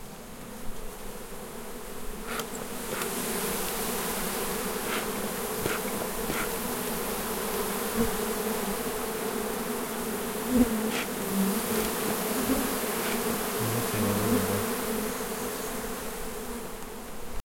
Bee hive very close 0.0 - 17.4
Brushing sounds 4.8 - 6.6
Brushing sounds 10.9 - 12.1
Brushing sounds 12.9 - 14.6

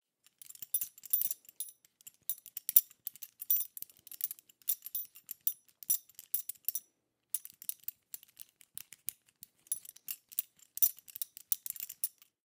Metal BeltBuckle Jingle 0.2 - 12.4

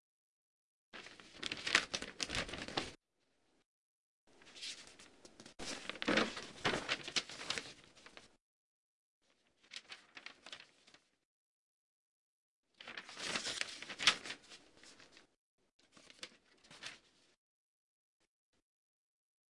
newspaper rustle 1.0 - 3.0
newspaper rustle 4.4 - 8.3
newspaper rustle 9.3 - 11.1
newspaper rustle 12.8 - 17.4

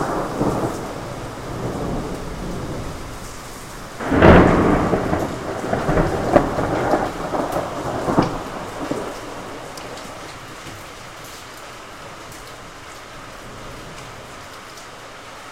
thunders 0.0 - 10.9
Heavy rain 0.0 - 15.5

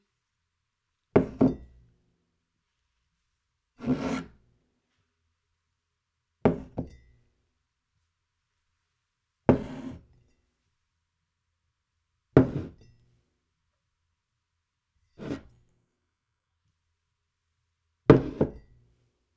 Setting down and picking up a ceramic mug 1.2 - 1.7
Setting down and picking up a ceramic mug 18.1 - 18.7

